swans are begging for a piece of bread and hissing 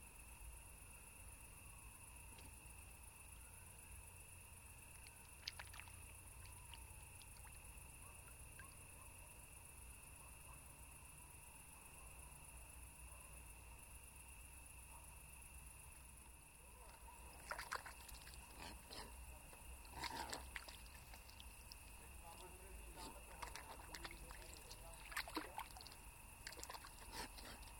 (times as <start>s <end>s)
22.7s 27.7s